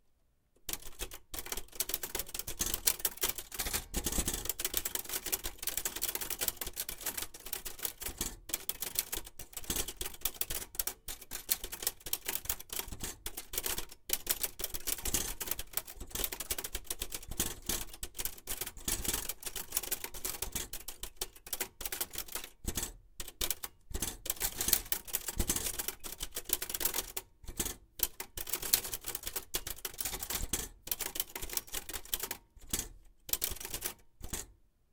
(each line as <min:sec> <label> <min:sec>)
0:00.6 Typing on Typewriter 0:34.5